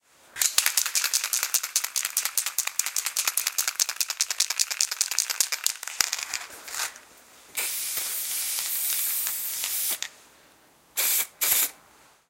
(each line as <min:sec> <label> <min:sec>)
0:00.4 Shaking spray box 0:07.0
0:07.6 spraying 0:10.1
0:07.6 Shaking spray box 0:10.1
0:11.0 Shaking spray box 0:11.7
0:11.0 spraying 0:11.8